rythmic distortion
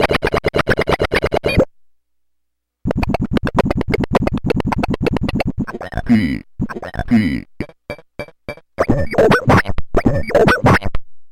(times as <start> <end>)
2.8 10.3